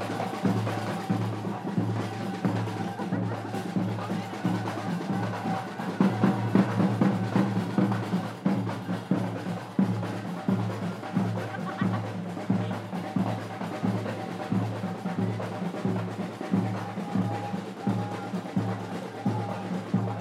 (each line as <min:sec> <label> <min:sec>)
0:00.0 drums 0:20.2
0:00.0 qraqeb 0:20.2
0:00.0 voices 0:20.2